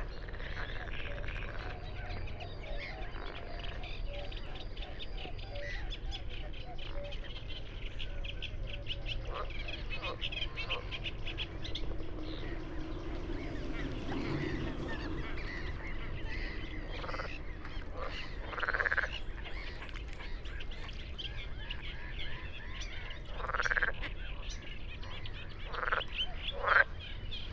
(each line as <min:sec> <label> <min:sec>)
0:00.0 call of a Red-necked grebe 0:27.5
0:00.0 Great reed warbler 0:27.5
0:00.0 frogs 0:27.5